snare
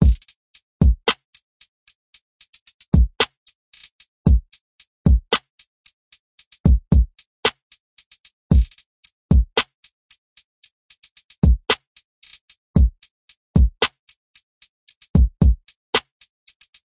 0:03.2 0:03.9, 0:07.4 0:07.6, 0:09.6 0:09.8, 0:11.7 0:12.4, 0:13.8 0:14.0

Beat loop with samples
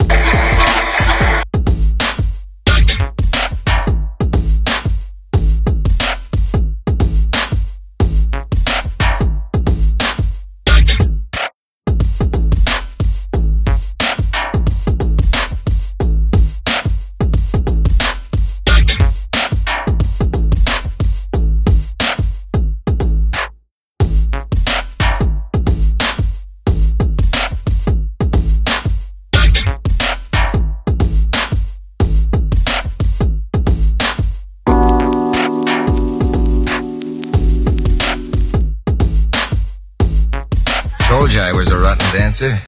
0:34.7 0:38.5

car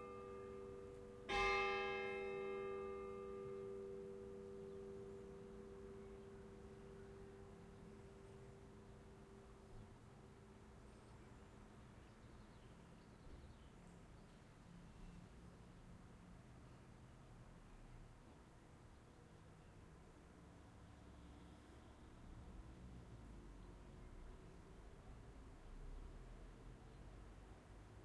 0:20.9 0:28.0

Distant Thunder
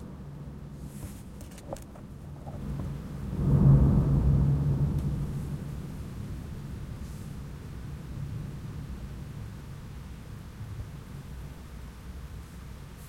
0:01.9 0:11.0

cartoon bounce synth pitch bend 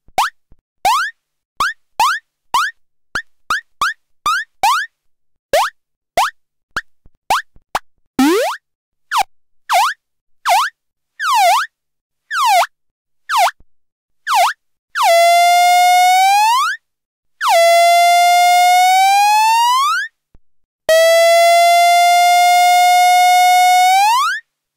0:08.2 0:08.6

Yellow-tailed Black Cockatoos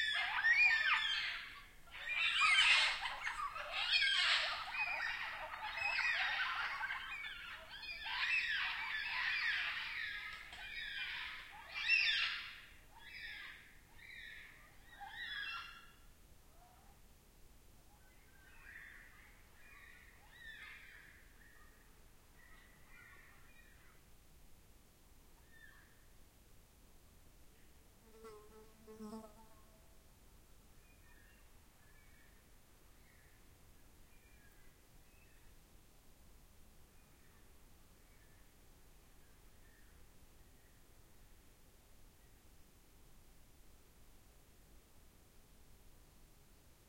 0:00.0 0:16.0

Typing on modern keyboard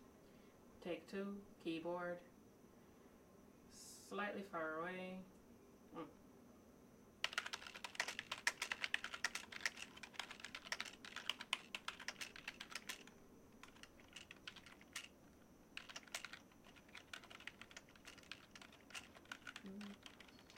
0:07.2 0:20.5

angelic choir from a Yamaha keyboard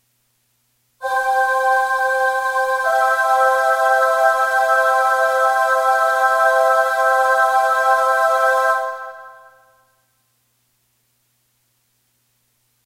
0:01.0 0:09.8

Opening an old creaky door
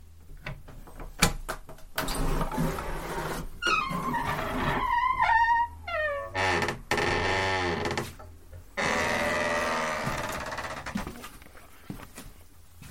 0:02.0 0:08.1, 0:08.8 0:11.0

